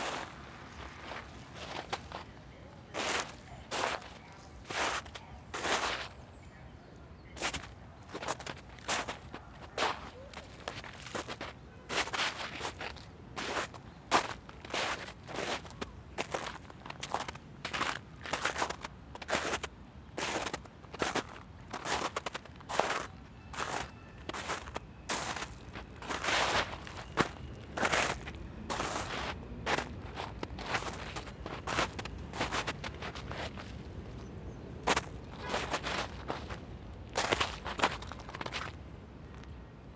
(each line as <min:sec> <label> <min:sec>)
0:00.0 Walking on a blanket of snow and ice 0:39.6